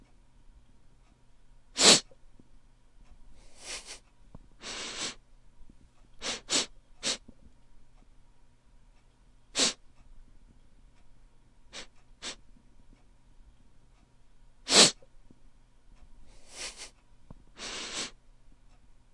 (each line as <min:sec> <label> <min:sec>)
0:01.8 sniffing sounds loud and quite 0:02.1
0:03.4 sniffing sounds loud and quite 0:04.0
0:04.6 sniffing sounds loud and quite 0:05.2
0:06.2 sniffing sounds loud and quite 0:07.2
0:09.5 sniffing sounds loud and quite 0:09.8
0:11.7 sniffing sounds loud and quite 0:12.4
0:14.7 sniffing sounds loud and quite 0:15.0
0:16.3 sniffing sounds loud and quite 0:17.0
0:17.6 sniffing sounds loud and quite 0:18.2